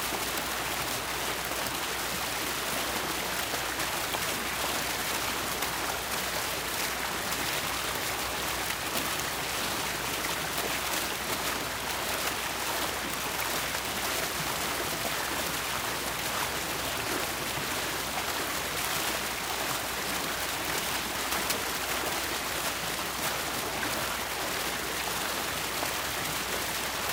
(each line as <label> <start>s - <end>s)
small splashy fountain water fixture 0.0s - 27.1s